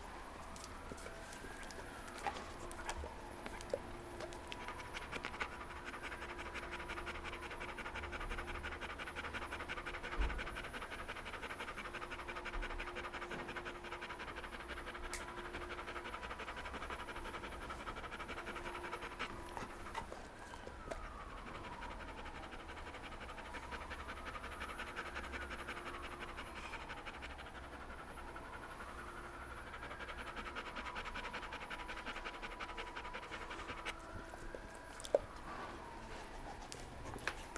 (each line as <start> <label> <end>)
0.0 ambulance sirens 12.6
13.2 ambulance sirens 37.5